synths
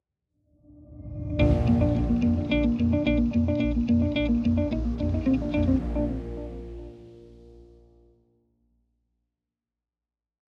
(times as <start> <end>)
1.4 7.9